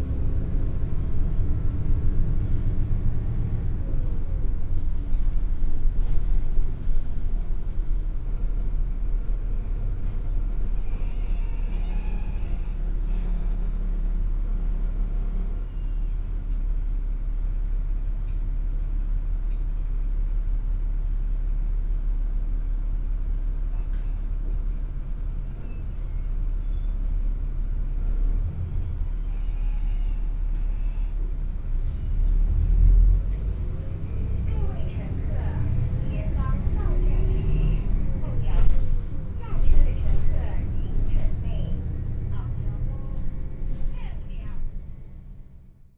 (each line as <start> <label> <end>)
0.0 Take the bus 45.9
34.2 Bus message broadcast sound 44.8